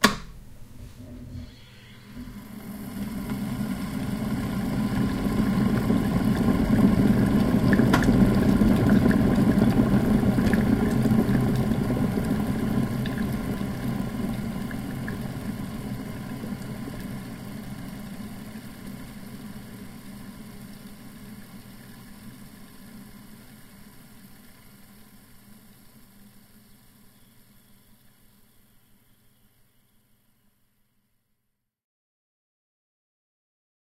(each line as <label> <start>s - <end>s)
flat plate kettle coming to the boil 0.0s - 17.6s
bubbling and fizzing of boiled water 1.6s - 29.0s